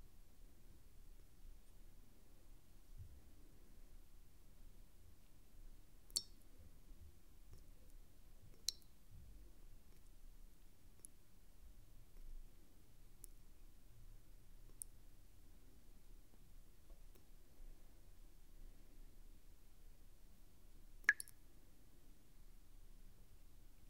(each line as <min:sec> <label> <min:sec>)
0:06.1 water drops in a bowl 0:06.4
0:08.5 water drops in a bowl 0:08.9
0:21.0 water drops in a bowl 0:21.4